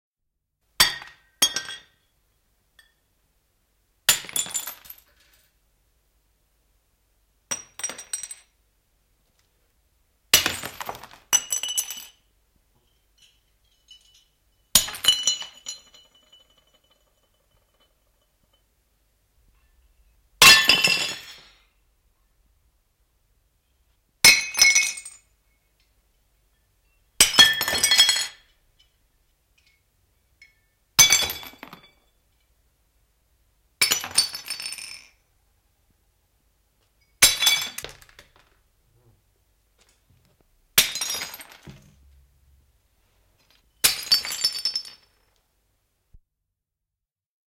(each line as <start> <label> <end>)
0.8 Cups, plates, small porcelain objects fall and break on the floor 2.0
4.1 Cups, plates, small porcelain objects fall and break on the floor 5.6
7.5 Cups, plates, small porcelain objects fall and break on the floor 8.6
10.3 Cups, plates, small porcelain objects fall and break on the floor 18.6
20.4 Cups, plates, small porcelain objects fall and break on the floor 21.6
24.2 Cups, plates, small porcelain objects fall and break on the floor 25.3
27.2 Cups, plates, small porcelain objects fall and break on the floor 29.0
30.4 Cups, plates, small porcelain objects fall and break on the floor 32.1
33.8 Cups, plates, small porcelain objects fall and break on the floor 35.2
37.0 Cups, plates, small porcelain objects fall and break on the floor 38.6
40.8 Cups, plates, small porcelain objects fall and break on the floor 42.1
43.4 Cups, plates, small porcelain objects fall and break on the floor 45.4